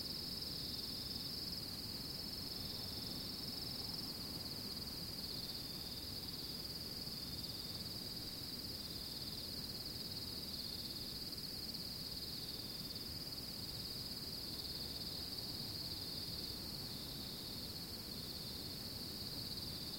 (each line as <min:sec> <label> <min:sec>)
0:00.0 crickets 0:19.9
0:00.0 wind 0:19.9